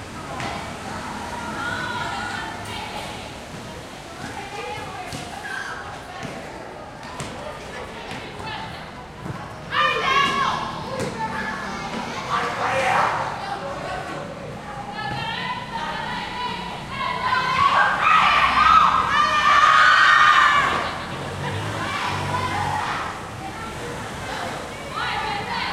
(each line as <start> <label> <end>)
14.8 Walla 25.7
17.2 Screams 23.1